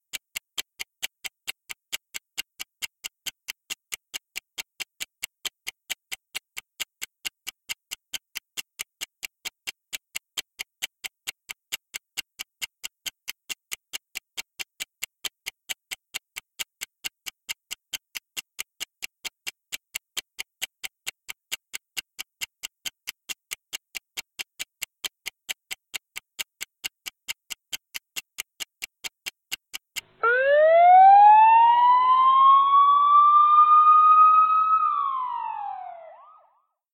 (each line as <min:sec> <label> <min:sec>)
0:00.0 ticking timer 0:30.3
0:30.2 alarm 0:36.6